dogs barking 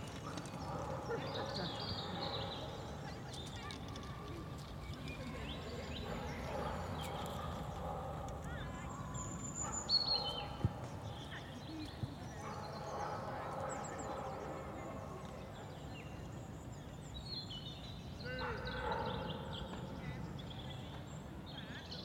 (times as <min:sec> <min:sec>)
0:00.2 0:03.1, 0:05.9 0:10.8, 0:12.4 0:14.8, 0:18.3 0:19.9